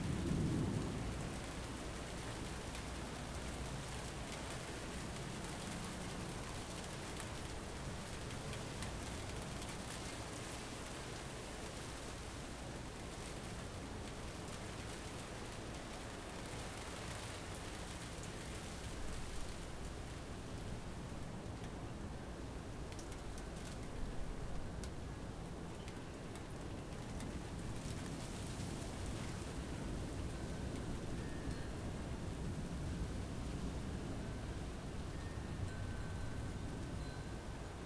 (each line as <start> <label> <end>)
0.0 thunder 1.2
0.0 rain 37.8